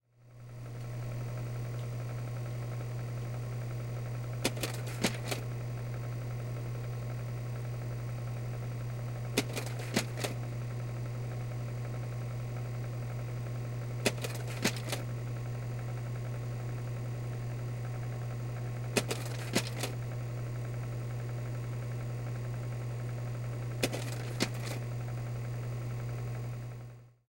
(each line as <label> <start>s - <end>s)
slide projector 4.2s - 6.6s
slide projector 8.2s - 11.5s
slide projector 13.1s - 26.5s